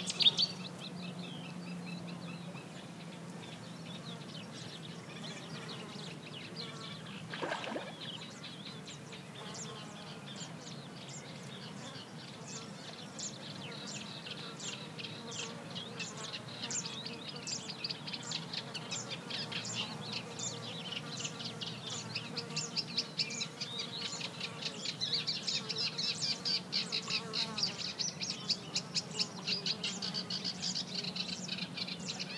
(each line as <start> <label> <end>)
0.0 several species of birds 32.3
6.8 Insects 8.5
7.3 water 8.3
7.3 frogs croaking 8.0